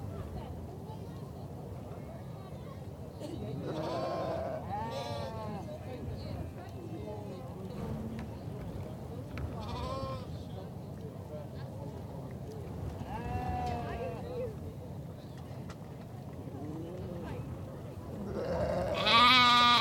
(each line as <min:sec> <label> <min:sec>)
0:00.0 wind 0:19.8
0:03.6 noisy lamb making its characterful bleats 0:05.4
0:18.2 noisy lamb making its characterful bleats 0:19.8